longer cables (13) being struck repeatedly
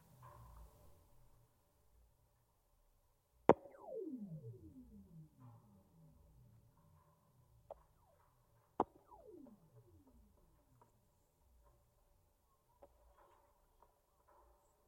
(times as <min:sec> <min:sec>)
0:03.5 0:06.9, 0:08.8 0:10.5